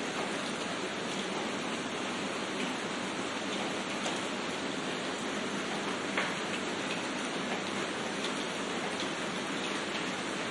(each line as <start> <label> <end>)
0.0 Light-Harder Rain 10.5